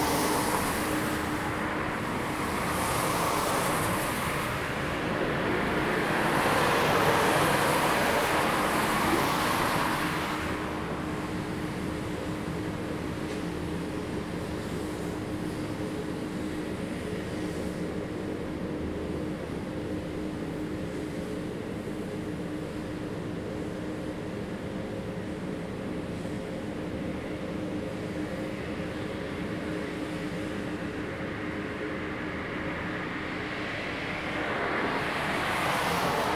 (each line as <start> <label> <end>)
0.0 Traffic Sound 12.0
30.7 Traffic Sound 36.3